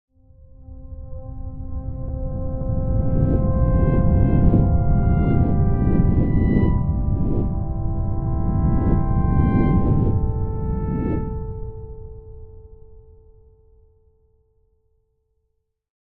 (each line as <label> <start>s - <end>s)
soft synth notes 0.4s - 13.4s